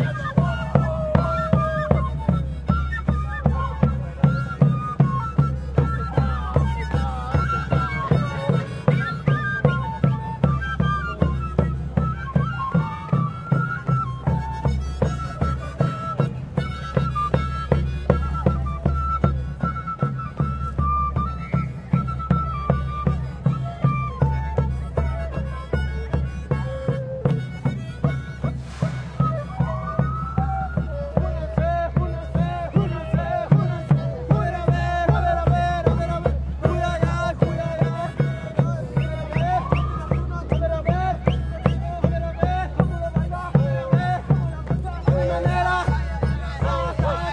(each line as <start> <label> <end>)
0.0 Indian chants 11.8
0.0 people 47.3
28.5 Indian chants 47.3